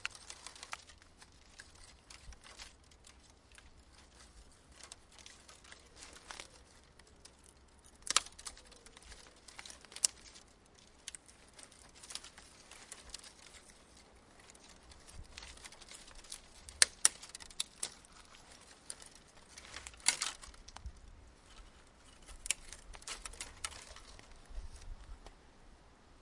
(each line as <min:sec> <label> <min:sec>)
0:00.0 Small branches and sticks snapping and rustling 0:25.4